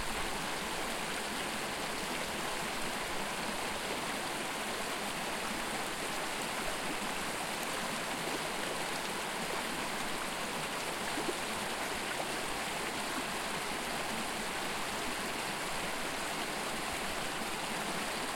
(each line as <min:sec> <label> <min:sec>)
0:00.0 stream flowing 0:18.3